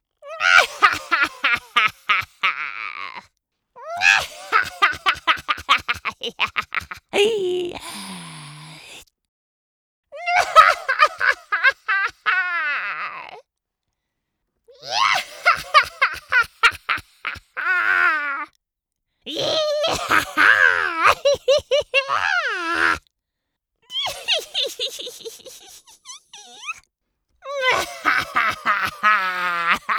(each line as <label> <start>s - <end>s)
Witch Cackle 0.4s - 3.2s
Witch Cackle 4.0s - 7.2s
Witch Cackle 10.2s - 13.3s
Witch Cackle 15.0s - 18.5s
Witch Cackle 19.4s - 23.0s
Witch Cackle 23.9s - 26.8s
Witch Cackle 27.5s - 29.9s